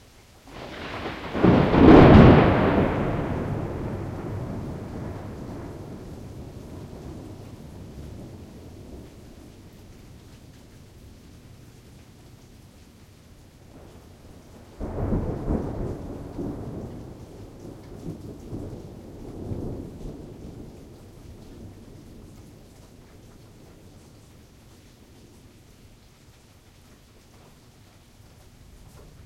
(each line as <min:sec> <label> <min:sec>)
0:00.0 light rain 0:29.2
0:00.5 Crackling thunder 0:29.2